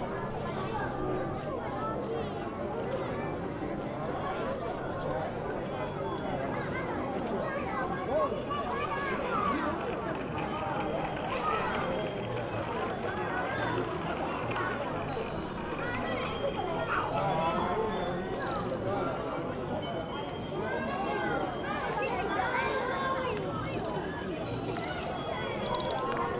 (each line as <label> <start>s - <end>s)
children playing 0.0s - 26.3s